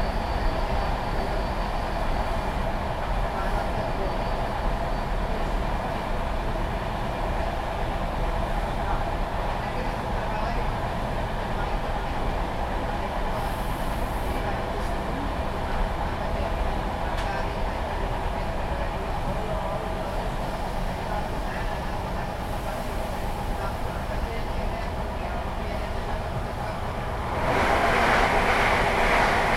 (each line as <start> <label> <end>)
2.9 people chatting 4.6
8.4 passengers getting on 29.5
8.5 people chatting 27.0
27.2 Train drumming and clacking 29.5